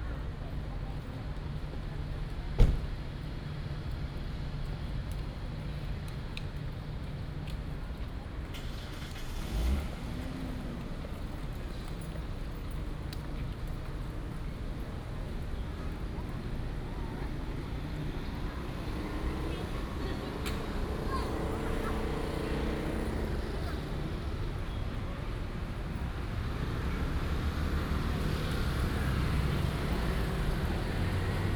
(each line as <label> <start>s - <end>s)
Traffic Sound 7.2s - 31.5s